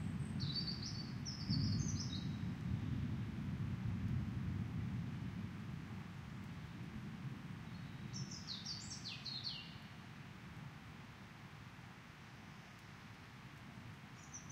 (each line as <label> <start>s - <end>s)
rolling thunder 0.0s - 8.3s
upcoming rainfall 0.0s - 14.5s
wind 0.0s - 14.5s
bird calls 7.8s - 9.8s